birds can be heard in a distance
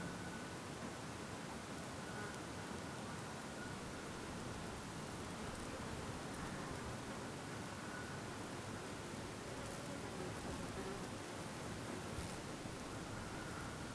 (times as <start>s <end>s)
3.2s 9.4s, 11.8s 13.9s